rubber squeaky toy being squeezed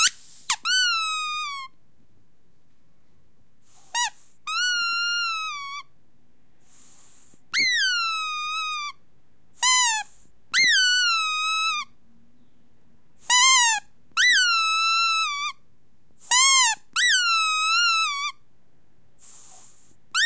0.0s 1.8s, 3.9s 5.9s, 7.5s 9.0s, 9.6s 12.0s, 13.2s 15.6s, 16.2s 18.4s

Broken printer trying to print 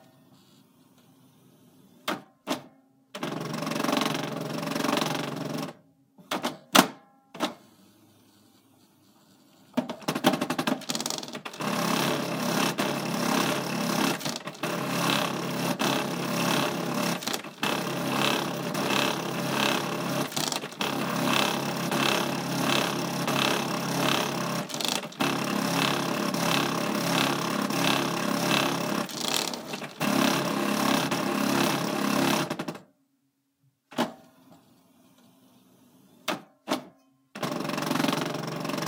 9.8s 32.8s, 37.4s 38.8s

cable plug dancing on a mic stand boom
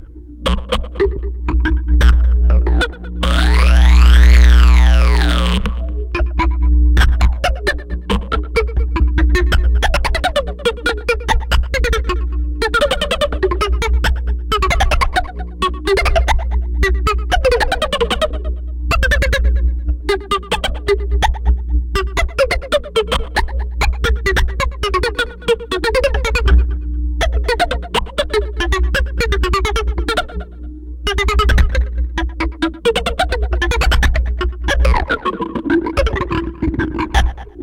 0.0s 10.2s, 32.9s 37.6s

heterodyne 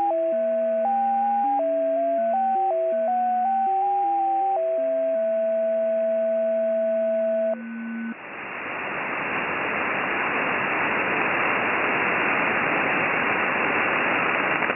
0.0s 8.2s

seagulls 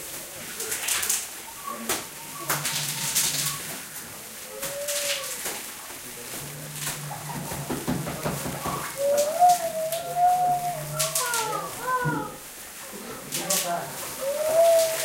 1.5s 5.6s, 6.8s 12.4s, 14.1s 15.0s

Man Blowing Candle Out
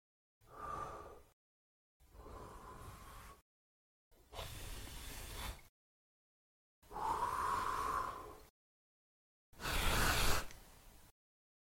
9.6s 10.5s

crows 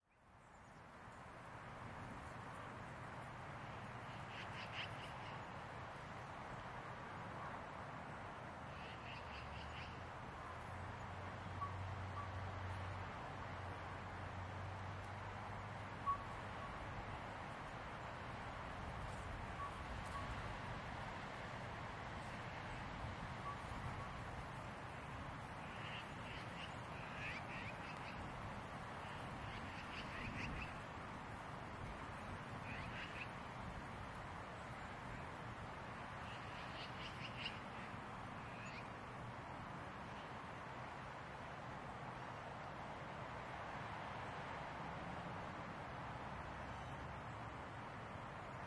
25.6s 28.2s, 32.6s 33.3s

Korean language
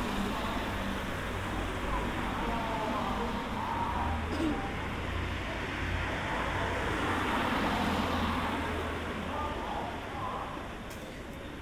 1.8s 4.8s

